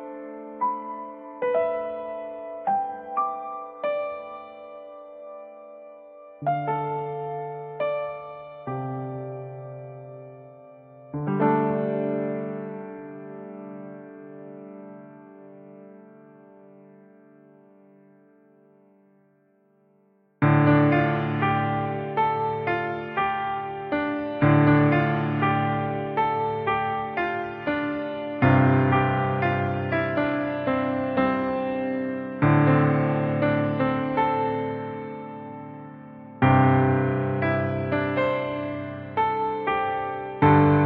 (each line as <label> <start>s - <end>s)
piano musical motive 0.0s - 19.3s
piano musical motive 20.4s - 40.8s